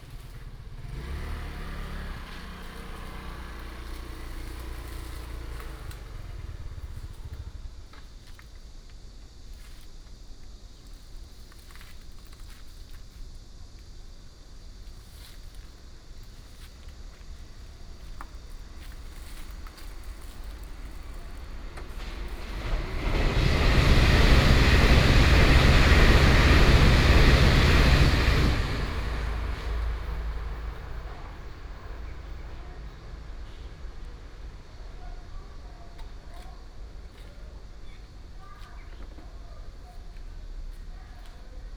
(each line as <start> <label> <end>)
0.0 Traffic sound 8.3
0.0 Cicadas 41.7
14.3 Traffic sound 41.7
20.5 train runs through 35.5